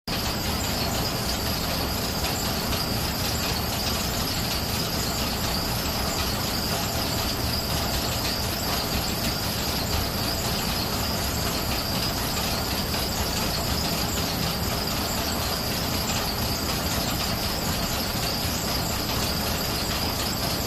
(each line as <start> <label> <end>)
0.1 Exhaust Fan 20.6